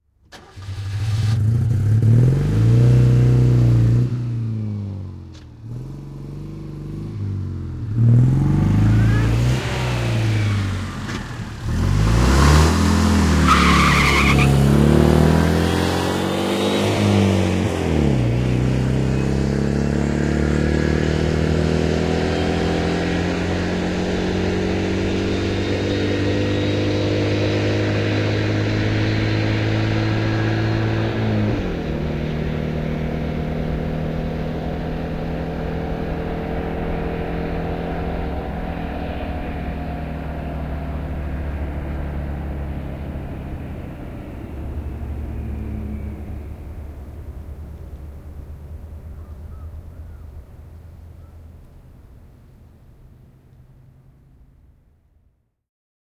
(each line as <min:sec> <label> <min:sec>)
0:00.3 car turning, pulling away fast 0:54.6
0:08.6 tyres screeching 0:14.8